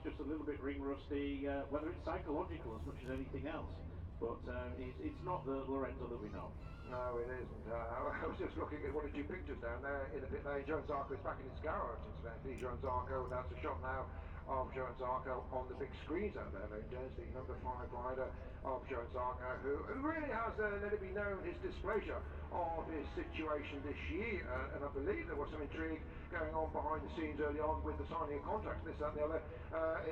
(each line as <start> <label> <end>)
0.0 commentary 30.1